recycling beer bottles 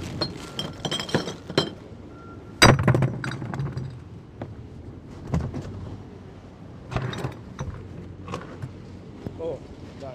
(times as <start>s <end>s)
0.0s 1.9s